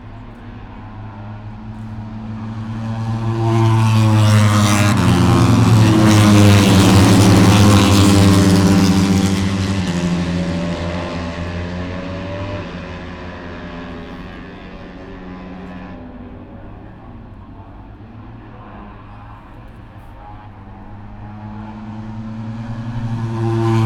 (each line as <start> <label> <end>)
0.0 motorcycle 23.8